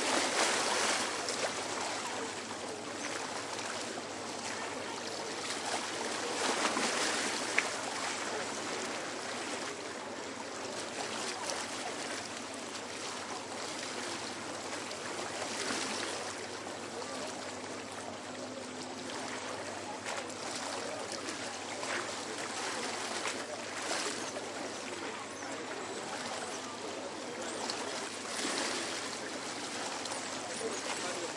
River 0:00.0 - 0:31.3

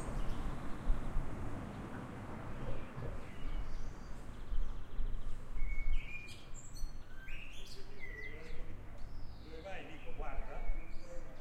birds singing 0:00.0 - 0:00.8
birds singing 0:01.6 - 0:11.4
people chatting 0:09.5 - 0:11.4

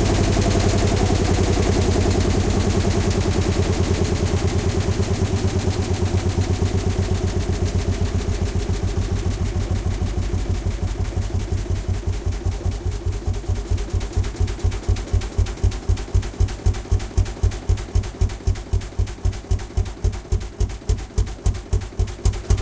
acceleration 0:00.0 - 0:17.8

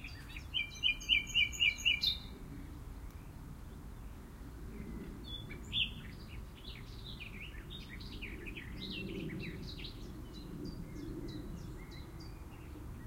Nightingale song 0:00.0 - 0:02.3

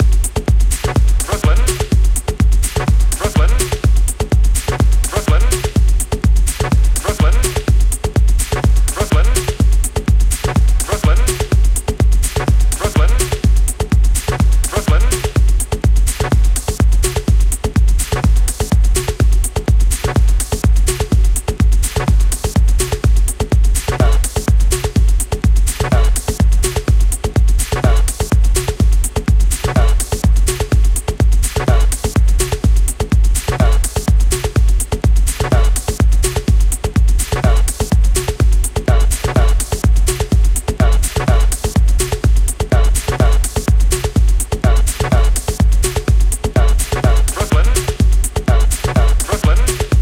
Bass 0:00.0 - 0:50.0
Hi Hat 0:00.0 - 0:50.0
Kick 0:00.0 - 0:50.0

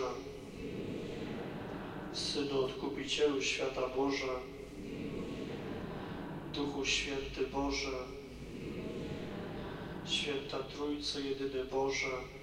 singing prayer 0:00.0 - 0:12.4

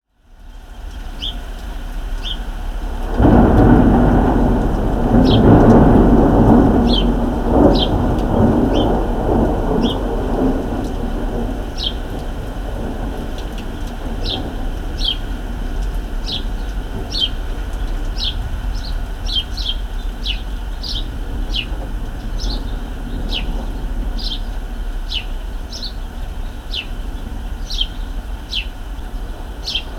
rain 0:00.0 - 0:29.9
wind 0:00.0 - 0:29.9
few birds on the balcony 0:00.4 - 0:29.9
Gentle Thunder 0:00.8 - 0:29.9
internal vibrations of a metal balcony door 0:03.1 - 0:17.5

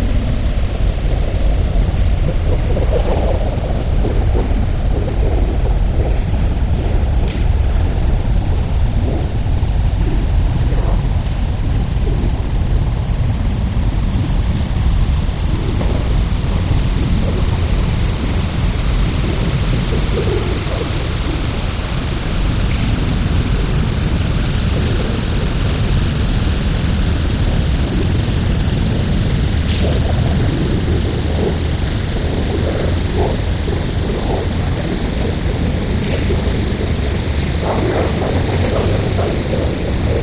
crickets 0:00.0 - 0:40.2

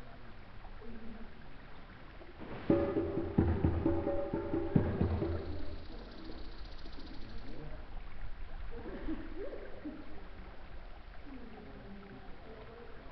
natural eco 0:00.0 - 0:13.1
river 0:00.0 - 0:13.1
drums 0:02.4 - 0:06.8
birds 0:02.7 - 0:08.2

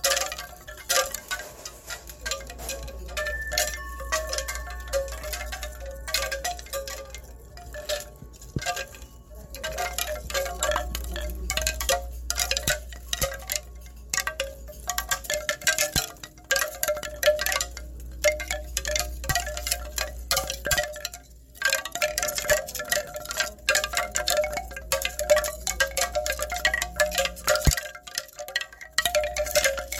Wooden bamboo wind chimes 0:00.0 - 0:29.9

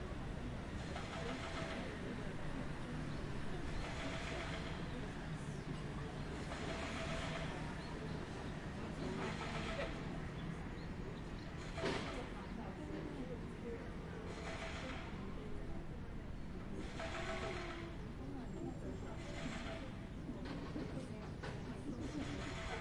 people 0:00.0 - 0:22.8

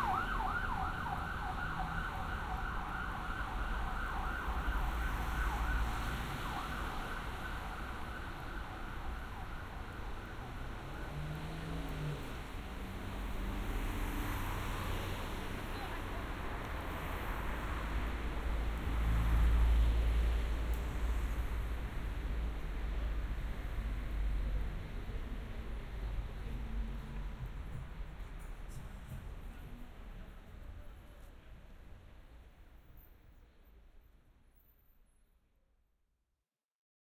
Sirens 0:00.0 - 0:12.2
Traffic 0:00.0 - 0:35.5

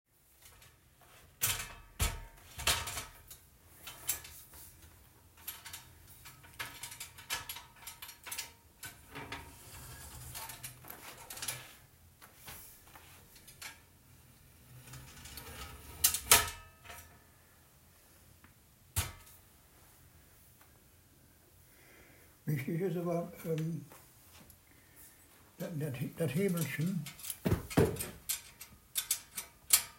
Opening and closing a small metal ladder 0:00.3 - 0:17.3
Opening and closing a small metal ladder 0:18.9 - 0:19.5
Opening and closing a small metal ladder 0:26.2 - 0:29.9

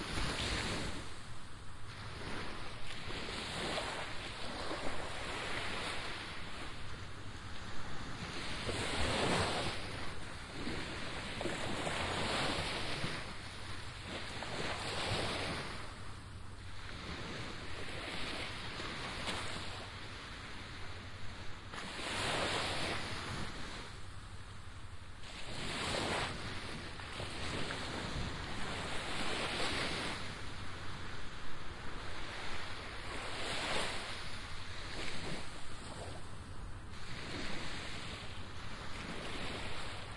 waves crashing all around me 0:00.0 - 0:40.1

